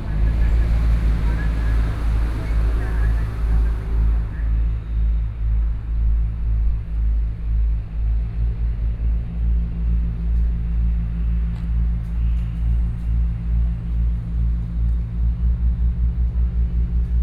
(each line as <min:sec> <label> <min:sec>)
0:00.0 Traffic Sound 0:05.2